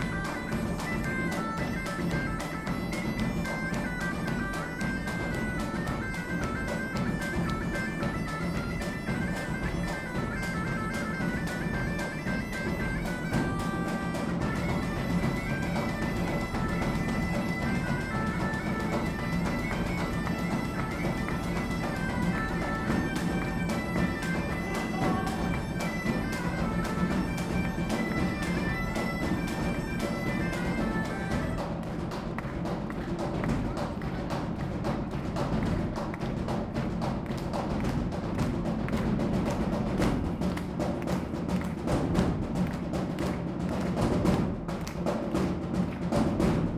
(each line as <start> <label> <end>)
0.0 band playing 32.0